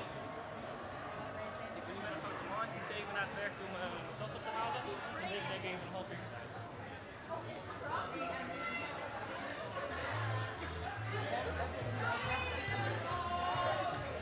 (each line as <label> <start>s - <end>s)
people celebrating 9.6s - 14.2s